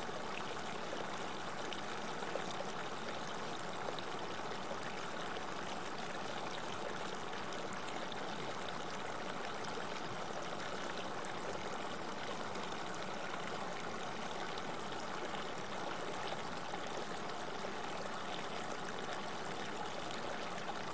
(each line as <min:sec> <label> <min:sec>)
0:00.0 Small river 0:20.9